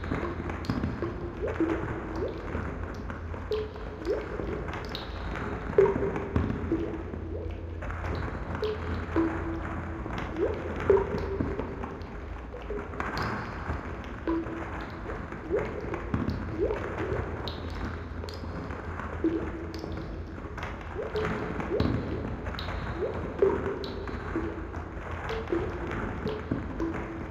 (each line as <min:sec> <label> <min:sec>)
0:00.0 trickle 0:27.3
0:00.0 water 0:27.3